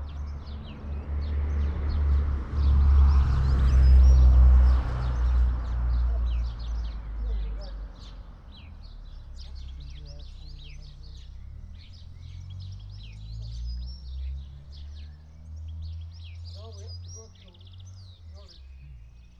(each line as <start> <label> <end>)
0.0 cyclists 19.3
0.0 entrants from the car rally 19.3
0.0 house sparrow 19.3
0.0 lots of traffic 19.3
3.5 blackbird 19.3
16.5 farm traffic 18.8